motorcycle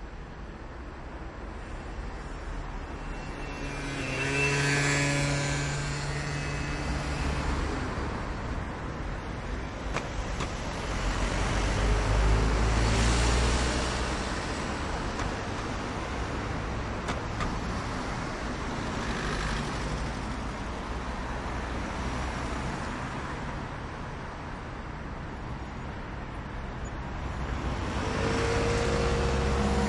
0:02.9 0:09.0, 0:17.0 0:20.7, 0:27.7 0:29.8

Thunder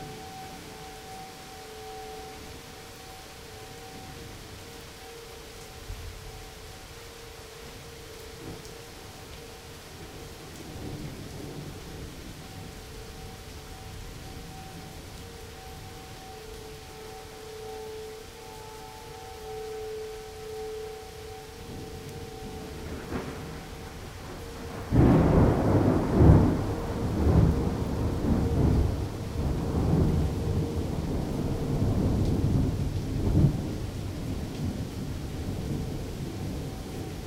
0:22.7 0:33.8

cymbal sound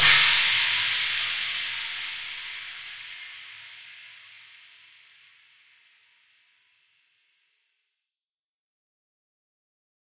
0:00.0 0:06.8

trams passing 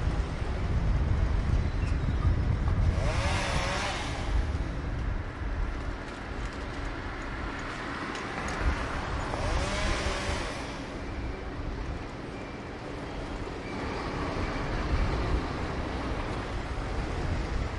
0:10.9 0:17.7

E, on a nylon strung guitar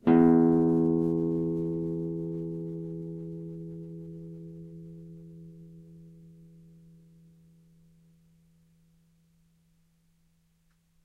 0:00.0 0:08.5

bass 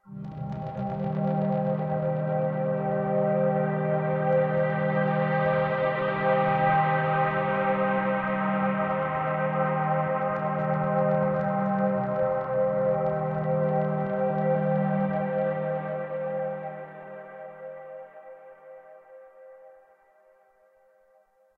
0:00.1 0:16.8

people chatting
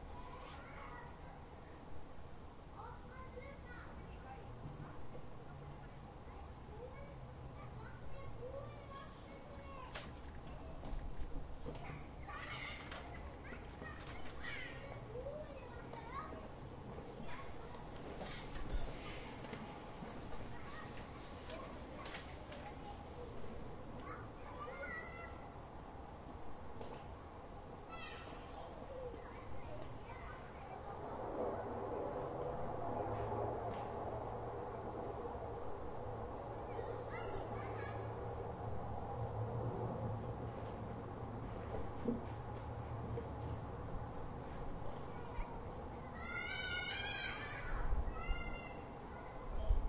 0:02.7 0:11.0, 0:11.7 0:25.4, 0:27.9 0:32.1, 0:36.5 0:38.2, 0:44.9 0:49.8

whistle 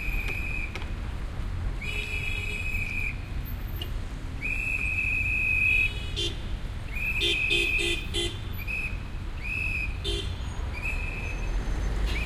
0:00.0 0:00.8, 0:02.6 0:03.3, 0:04.4 0:05.9, 0:06.9 0:08.0, 0:08.6 0:10.0, 0:10.7 0:12.2

